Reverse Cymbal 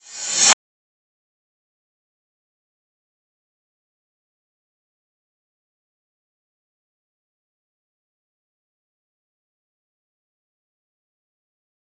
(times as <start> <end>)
0.0 0.6